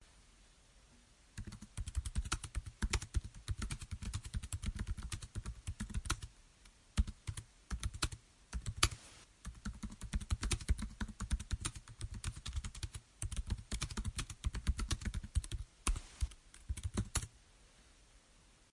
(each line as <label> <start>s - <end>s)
typing on my laptop 1.4s - 6.3s
typing on my laptop 7.0s - 17.3s